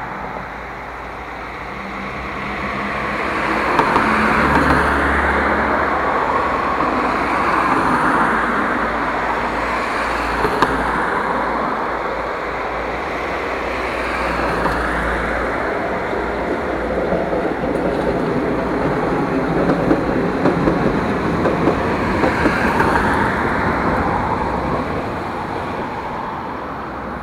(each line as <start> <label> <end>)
0.0 Tram 27.2
0.0 bus 27.2
0.0 passing cars 27.2